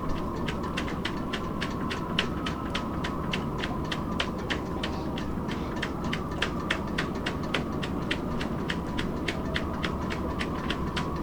wind blows through sailboat masts and riggings 0.0 - 11.2

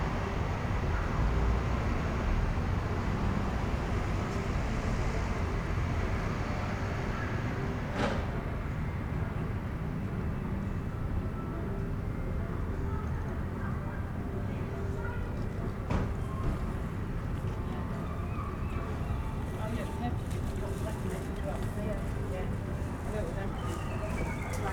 traffic 0.0 - 24.7
voices 12.5 - 24.7
road sweepers push their carts by 15.4 - 24.7

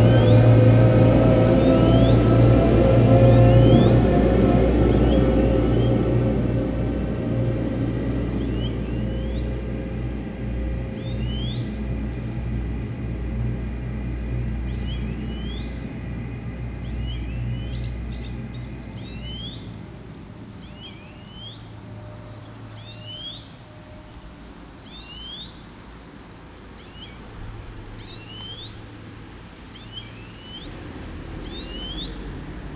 bird song 0.0 - 6.8
church ringing 0.0 - 11.9
Seine river 0.0 - 32.7
enormous tractors passing by 0.0 - 32.7
bird song 7.5 - 12.8
bird song 14.3 - 30.8
bird song 31.4 - 32.7

